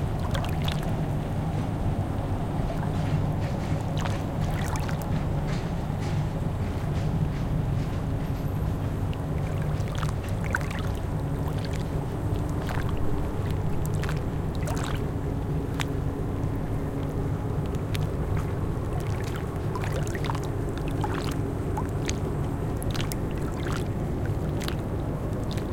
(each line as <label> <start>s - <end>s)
insect 0.0s - 25.6s
Lake water galloping 0.0s - 25.7s
plane 0.0s - 25.7s
factory 0.5s - 19.8s